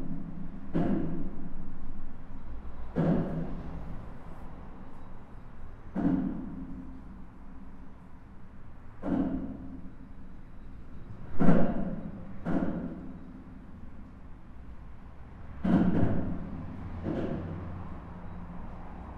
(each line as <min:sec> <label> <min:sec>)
0:14.9 cars are driving fast 0:19.1